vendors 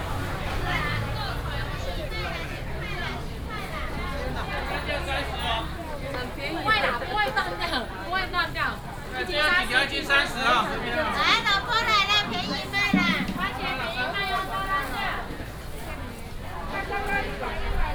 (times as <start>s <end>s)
11.6s 14.4s